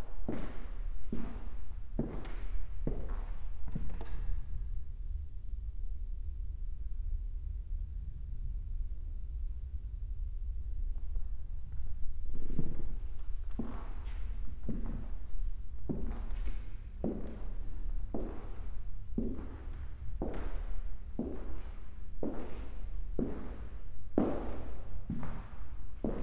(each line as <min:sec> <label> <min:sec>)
0:10.8 walk through exhibition halls, parquet 0:26.2